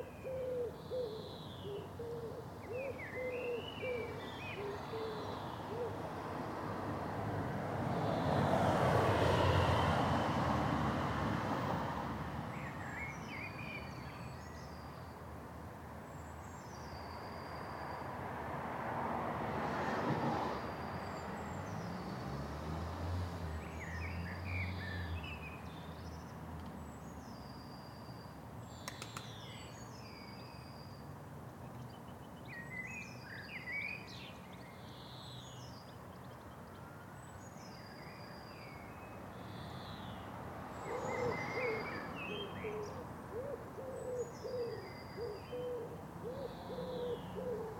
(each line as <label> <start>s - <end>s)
birds singing 0.0s - 6.0s
individual cars and lorries passing sporadically 0.0s - 47.7s
birds singing 40.8s - 47.7s